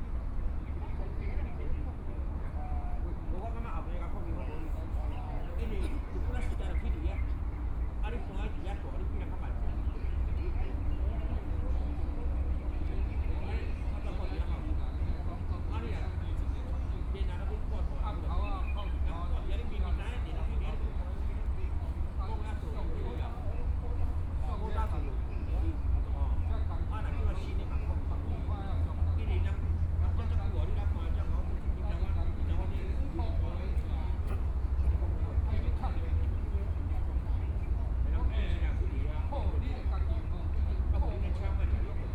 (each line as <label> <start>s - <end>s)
Traffic Sound 0.0s - 42.1s
group of people chatting 0.0s - 42.1s